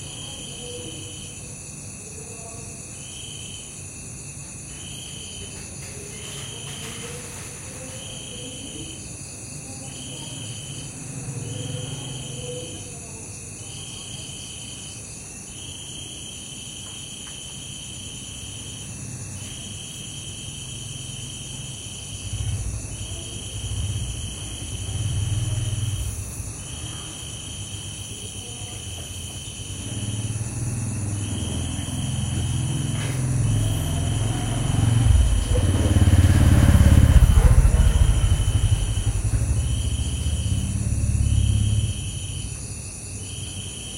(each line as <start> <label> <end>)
0.0 Crickets 43.9
5.4 distant voices 14.0
10.3 Motorbike passing 12.9
20.5 Motorbike passing 27.6
20.7 distant traffic 42.8
20.8 distant voices 42.6
29.6 Motorbike passing 42.6